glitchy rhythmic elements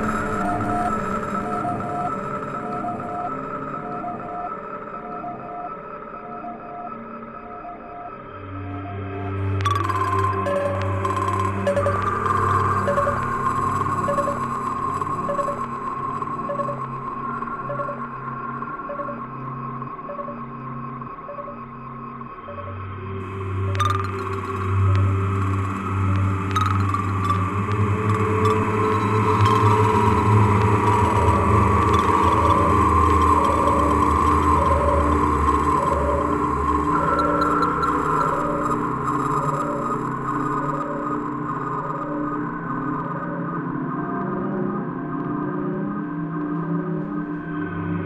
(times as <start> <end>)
9.5 16.9, 17.5 18.1, 22.5 41.0